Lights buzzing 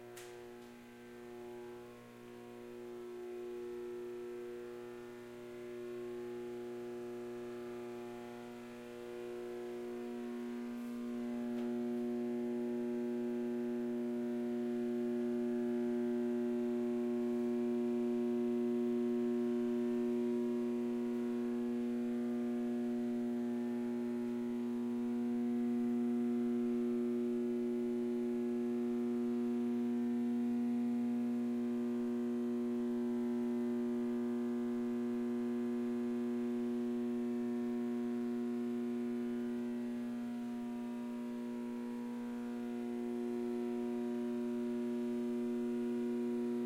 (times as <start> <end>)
0.0 2.0, 3.0 15.8